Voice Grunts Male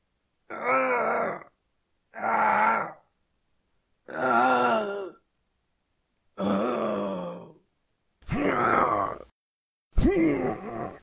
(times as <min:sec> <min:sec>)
0:08.3 0:09.3, 0:10.0 0:11.0